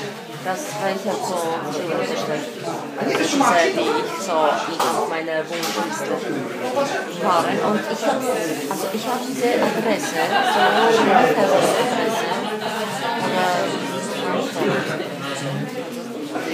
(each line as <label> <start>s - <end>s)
laughter 10.1s - 13.2s